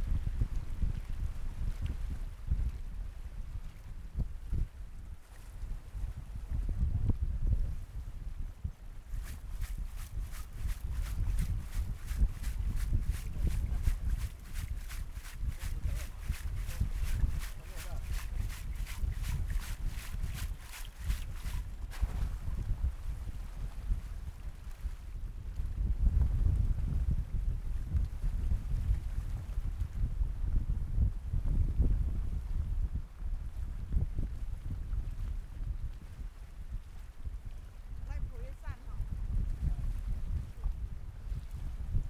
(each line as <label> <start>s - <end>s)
Cold strong wind 5.8s - 42.0s
Women working at sea 9.0s - 25.0s
Women working at sea 37.2s - 40.8s